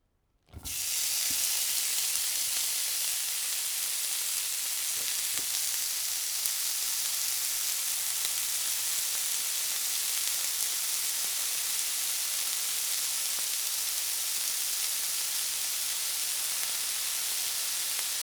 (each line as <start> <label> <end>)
0.5 food hitting hot pan 8.9